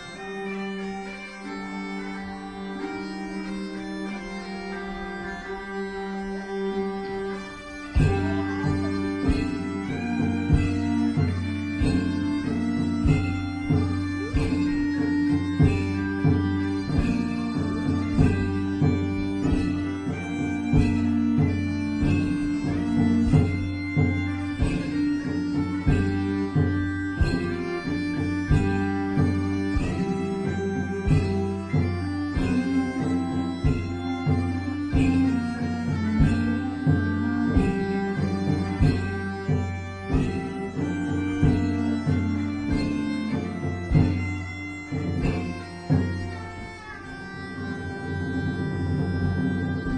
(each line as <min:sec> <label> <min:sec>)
0:00.0 bagpipe 0:49.9
0:00.0 fiddle 0:49.9
0:08.0 drum 0:46.3